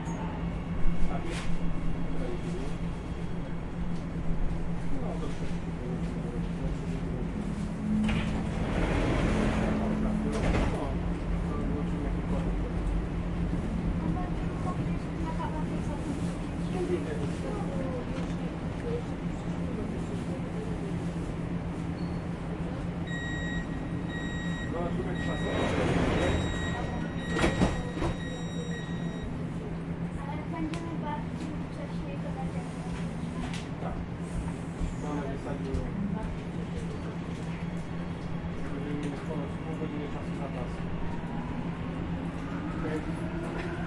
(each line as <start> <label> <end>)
0.0 metro 43.8